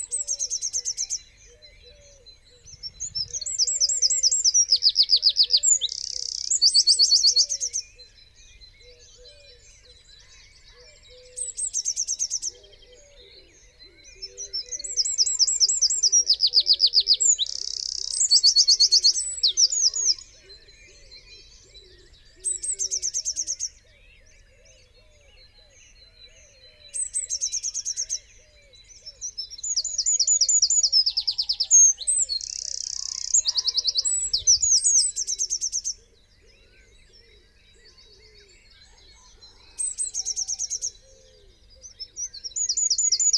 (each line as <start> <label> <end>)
0.0 wren 7.8
0.0 blackbird 43.3
0.0 blue tit 43.3
0.0 pheasant 43.3
0.0 robin 43.3
3.3 crow 7.8
8.8 crow 29.3
9.6 wren 23.7
29.8 wren 36.1
30.2 crow 42.0